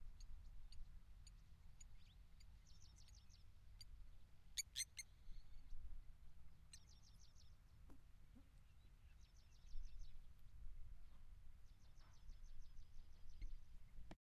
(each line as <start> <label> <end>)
0.0 birdsong 5.9
6.7 birdsong 14.2